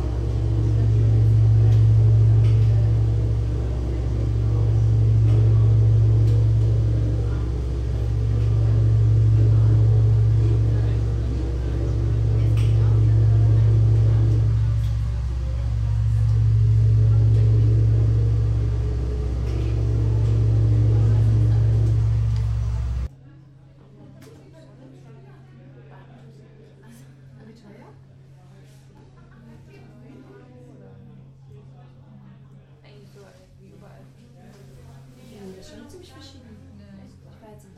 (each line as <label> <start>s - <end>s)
gin tonic glass vibrates 0.0s - 23.1s
sine tones interfering in a space 0.0s - 23.1s
hum and noise from fans 0.0s - 23.1s